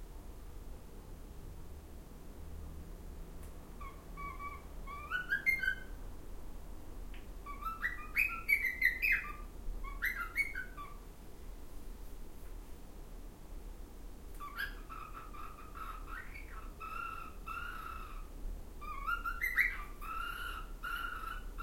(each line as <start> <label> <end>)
0.0 outside noise 21.6
3.8 Cockatiel Whistling and Making Other Noises 5.9
7.4 Cockatiel Whistling and Making Other Noises 11.0
14.4 Cockatiel Whistling and Making Other Noises 18.2
18.8 Cockatiel Whistling and Making Other Noises 21.6